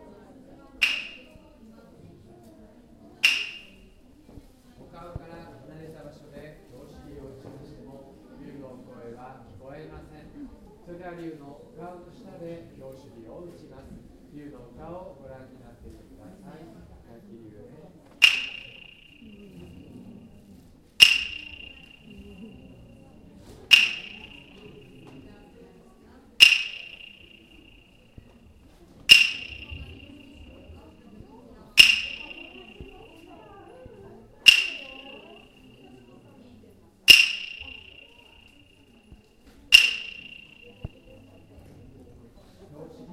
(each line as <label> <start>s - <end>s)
monk strikes two wood blocks 0.8s - 1.3s
monk strikes two wood blocks 3.2s - 3.8s
monk strikes two wood blocks 18.2s - 19.4s
monk strikes two wood blocks 21.0s - 22.3s
monk strikes two wood blocks 23.7s - 25.2s
monk strikes two wood blocks 26.4s - 27.9s
monk strikes two wood blocks 29.1s - 30.6s
monk strikes two wood blocks 31.8s - 33.2s
monk strikes two wood blocks 34.5s - 35.6s
monk strikes two wood blocks 37.1s - 38.5s
monk strikes two wood blocks 39.7s - 41.0s